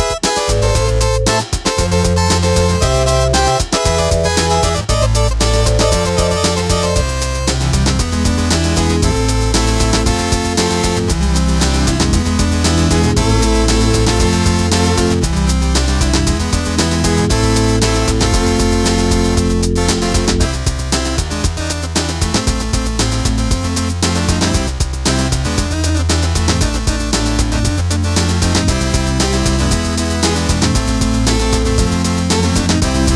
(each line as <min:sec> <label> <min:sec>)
0:00.0 drum machine 0:33.1
0:00.0 organDrums 0:33.1